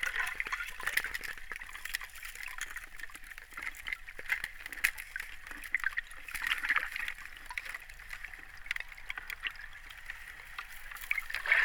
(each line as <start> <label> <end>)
0.0 Underwater sounds of Vltava 11.6